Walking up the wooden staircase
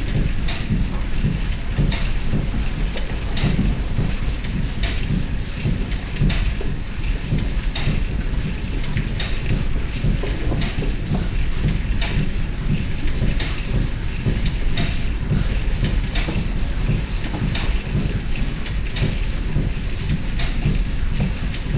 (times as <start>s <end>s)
0.7s 5.2s